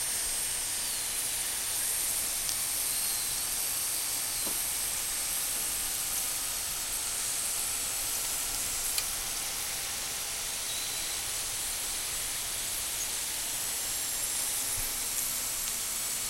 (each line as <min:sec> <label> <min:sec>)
0:00.0 potatoes frying in pan 0:16.2